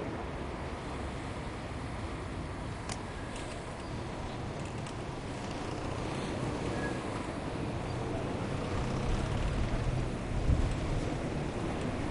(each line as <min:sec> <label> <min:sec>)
0:00.0 cars 0:12.1
0:00.6 Bike ride 0:12.1